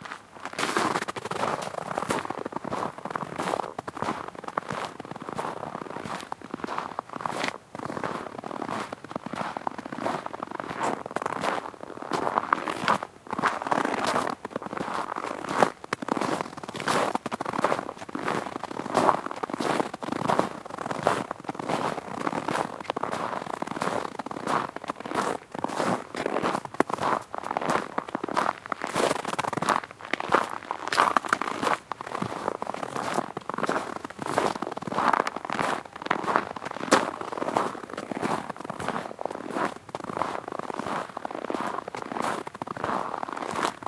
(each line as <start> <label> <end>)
0.0 Steps on icy snow, very crunchy 43.8